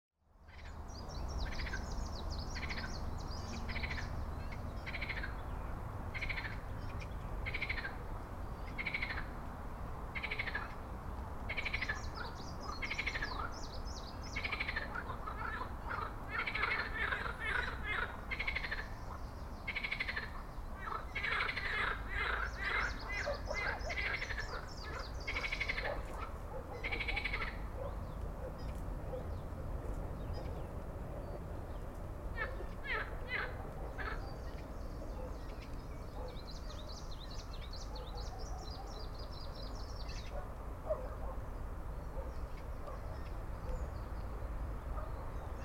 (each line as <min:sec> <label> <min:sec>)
0:00.4 birds 0:45.6
0:01.4 Frogs 0:01.9
0:02.6 Frogs 0:02.9
0:03.6 Frogs 0:05.4
0:06.1 Frogs 0:09.4
0:10.1 Frogs 0:10.8
0:11.5 Frogs 0:13.5
0:11.5 distant tram 0:45.6
0:14.3 Frogs 0:27.9
0:32.3 Frogs 0:34.6